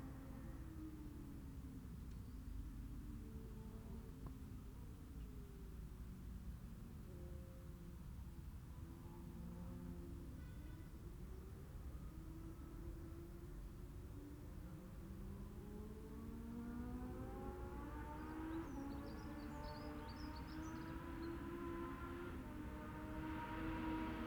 14.7s classic superbikes 24.2s

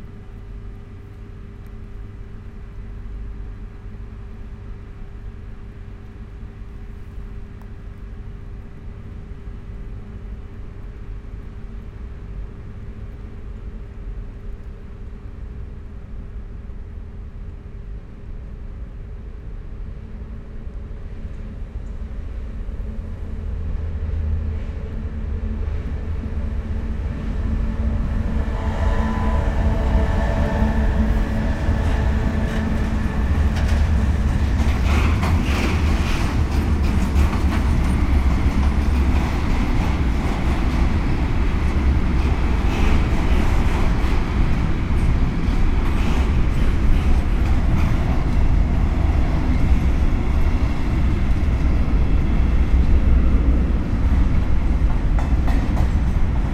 15.4s freight train passes 56.5s

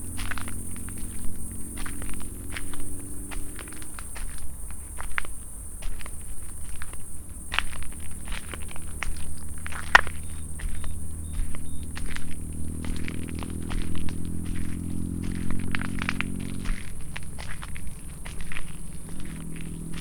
0.0s crickets 20.0s
9.8s nightbird 12.1s

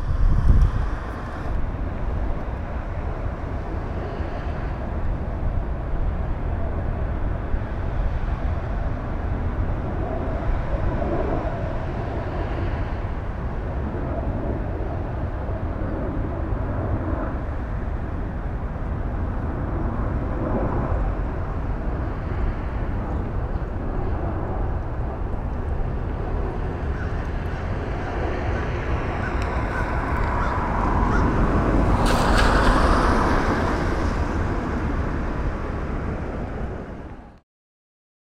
0.0s passing cars 37.4s
0.0s wind motions 37.4s
26.9s crows who make sounds in trees 31.4s

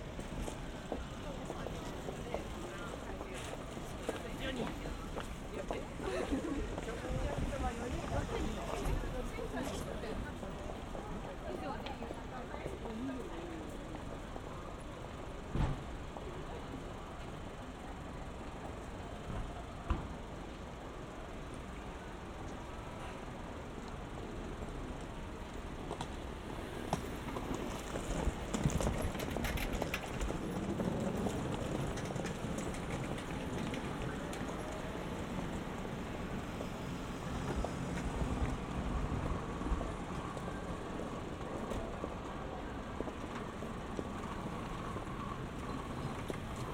0.0s traffic 46.7s
0.0s trains crossing 46.7s
0.9s people conversation 14.8s

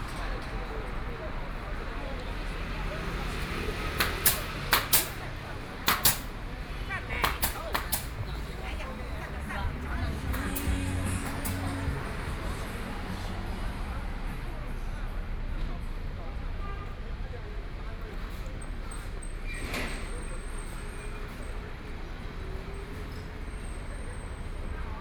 0.0s Traffic Sound 25.0s
0.0s Walking on the street 25.0s

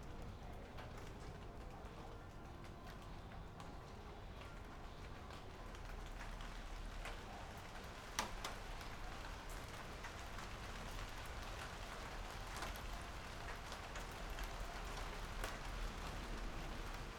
0.0s rain 17.1s

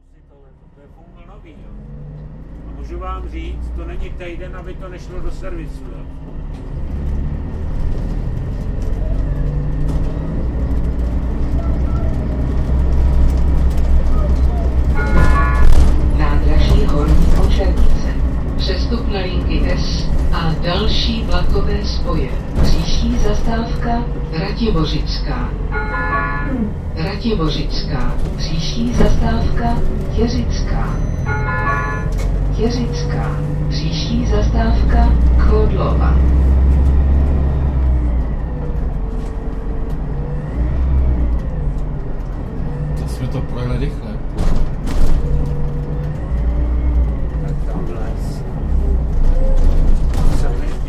0.0s bus ride in almost empty bus 50.8s

